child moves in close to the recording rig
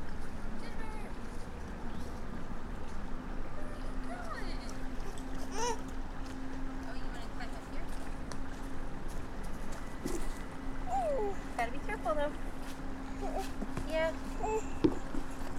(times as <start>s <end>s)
12.6s 14.1s